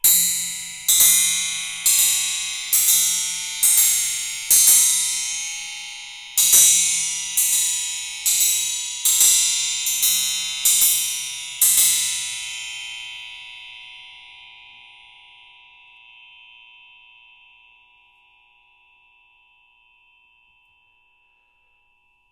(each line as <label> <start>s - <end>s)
metal spring hit with a metal rod 0.0s - 12.8s